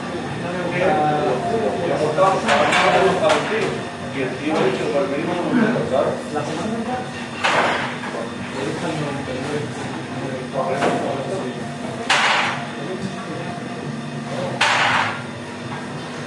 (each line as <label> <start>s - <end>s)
dishes 12.0s - 12.7s